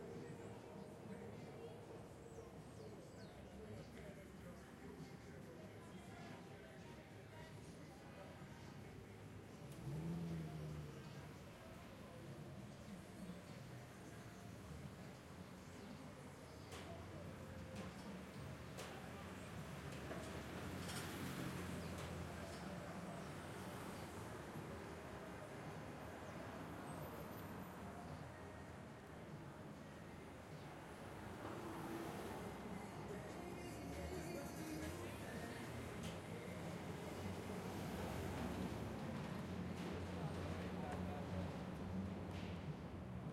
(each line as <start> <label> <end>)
0.0 traffic 43.3
10.9 elevated trains 43.3